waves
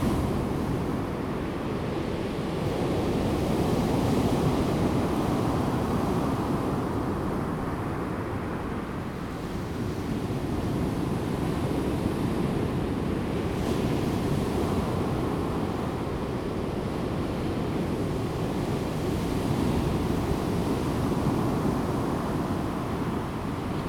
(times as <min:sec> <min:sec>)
0:12.5 0:23.8